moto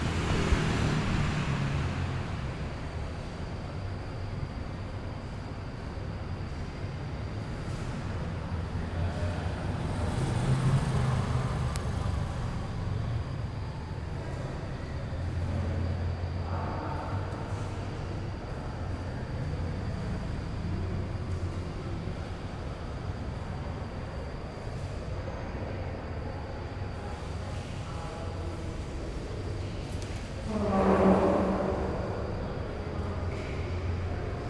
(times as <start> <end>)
0.0 3.3, 8.8 13.3